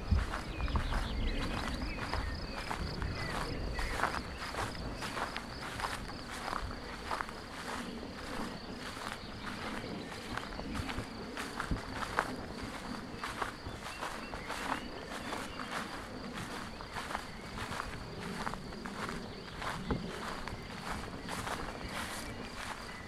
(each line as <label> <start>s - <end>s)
nature noises 0.0s - 23.0s